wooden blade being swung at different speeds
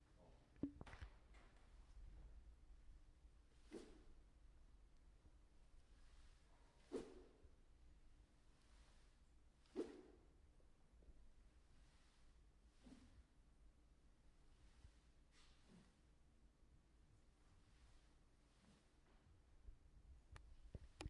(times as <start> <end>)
3.4 4.2, 5.8 7.6, 8.2 10.5, 11.4 13.5, 14.4 16.2, 17.4 19.2